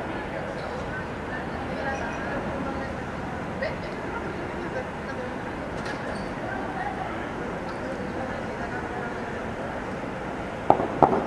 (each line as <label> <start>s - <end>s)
students talk 0.0s - 11.2s
Bursts of gunfire 10.7s - 11.2s